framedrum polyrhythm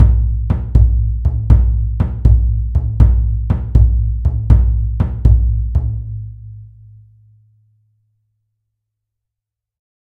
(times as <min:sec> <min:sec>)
0:00.0 0:06.3